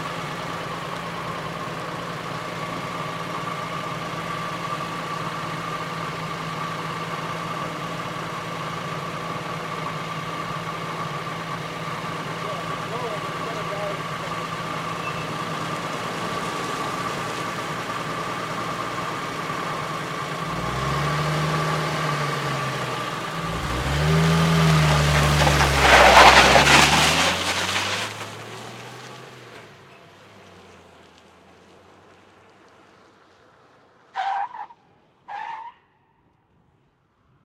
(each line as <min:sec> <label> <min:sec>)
0:00.0 57 chevy drive away 0:35.7
0:10.0 distant tire squeal 0:18.1
0:23.2 distant tire squeal 0:29.2
0:34.1 distant tire squeal 0:36.2